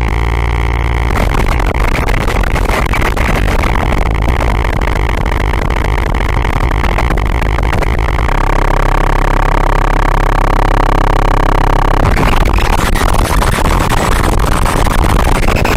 0.0s noisy and crunchy broken computer noises 15.7s

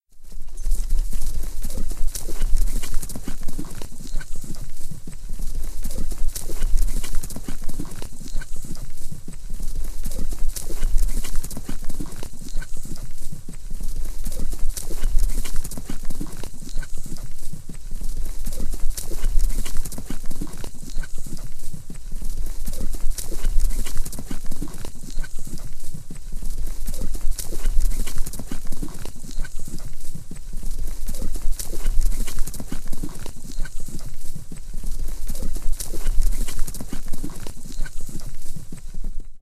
0.1s Galloping Horse 39.4s
0.3s horse's breathing 39.3s

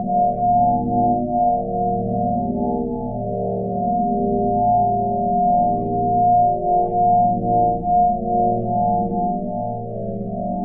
0.0s sine waves 10.6s

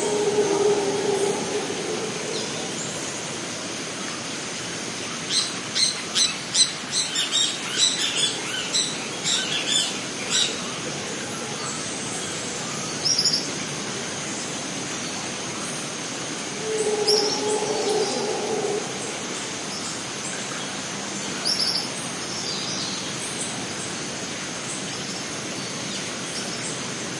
0.0s Howler Monkey 4.0s
0.0s insects 27.1s
16.3s Howler Monkey 20.1s

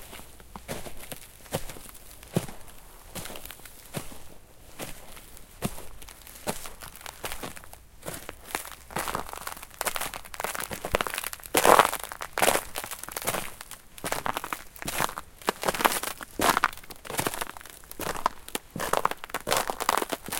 0.0s Walking on Crunchy Ice 20.3s

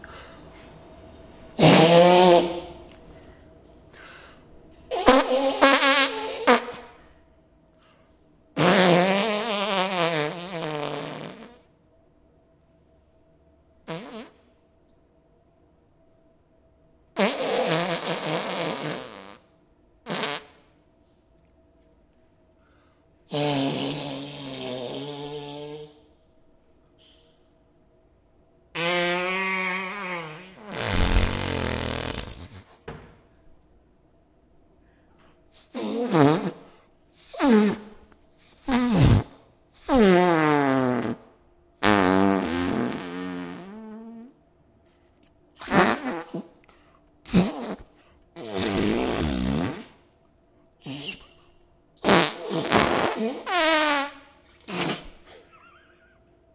0.0s fan in background 56.5s
1.6s (simulated) farts 2.8s
4.9s (simulated) farts 7.0s
8.6s (simulated) farts 11.7s
13.8s (simulated) farts 14.5s
17.2s (simulated) farts 20.7s
23.3s (simulated) farts 26.0s
28.7s (simulated) farts 33.1s
35.6s (simulated) farts 44.4s
45.6s (simulated) farts 50.1s
50.8s (simulated) farts 56.2s

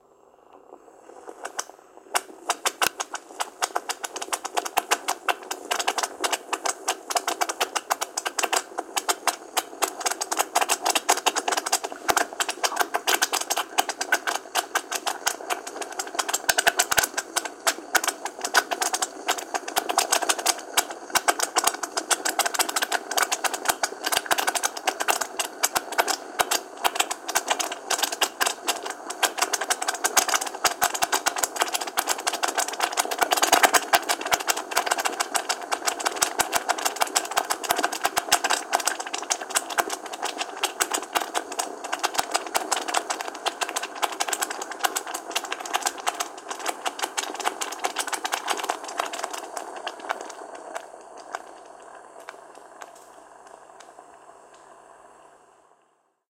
0.8s cooking tomato sauce 55.8s

